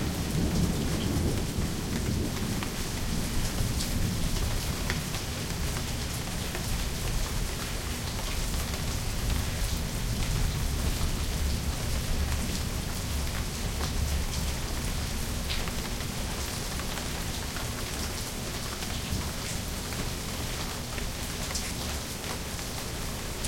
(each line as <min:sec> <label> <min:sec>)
0:00.0 thunder 0:04.5
0:00.0 Rain 0:23.4